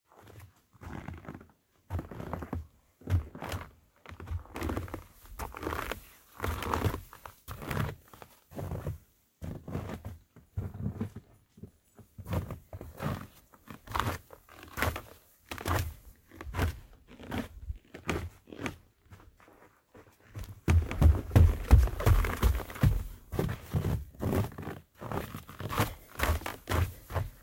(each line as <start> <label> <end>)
13.9 footsteps 27.4